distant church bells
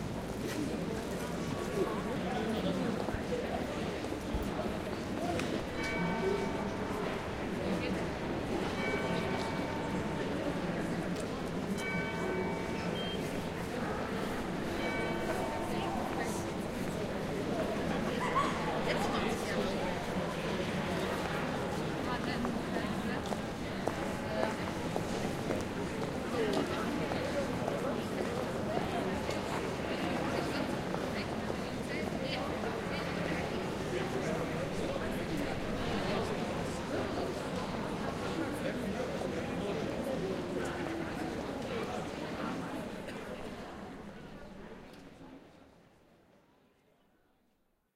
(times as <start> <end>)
4.8 18.0